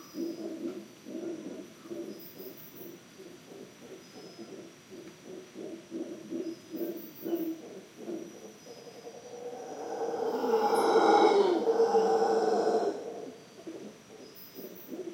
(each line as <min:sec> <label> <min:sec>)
0:00.0 howler monkey 0:15.1